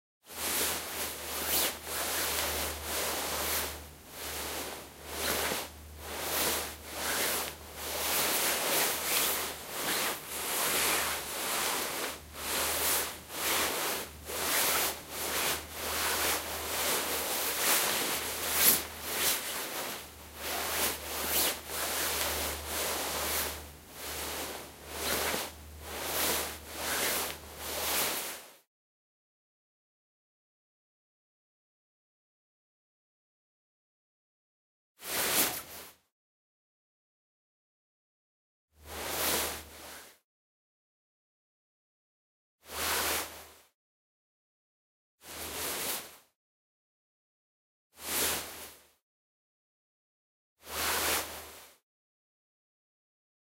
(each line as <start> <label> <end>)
0.4 walking slipper fabric rhythm 28.1